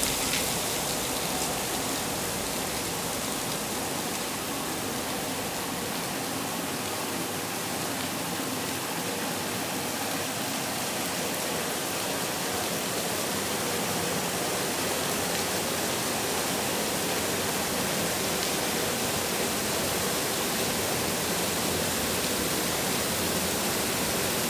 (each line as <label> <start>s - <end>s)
moving water 0.0s - 24.4s
small boat is ascending the canal 0.0s - 24.4s